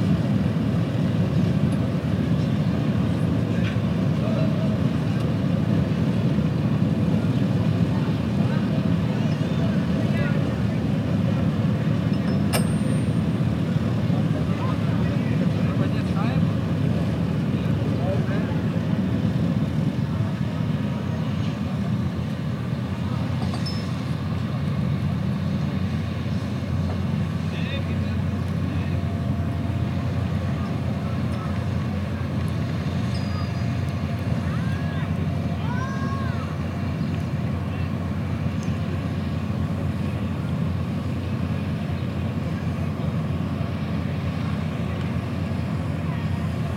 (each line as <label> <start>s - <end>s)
Harbour sounds 0.0s - 46.7s
industrial noises 0.0s - 46.7s
people talking 3.5s - 5.3s
people talking 7.0s - 11.6s
people talking 13.8s - 18.9s
people talking 27.4s - 29.2s
people talking 29.9s - 38.1s
people talking 44.3s - 46.7s